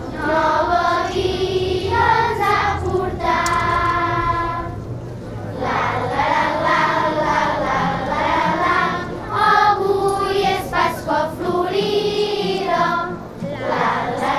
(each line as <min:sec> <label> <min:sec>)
0:00.0 Caramelles 0:05.3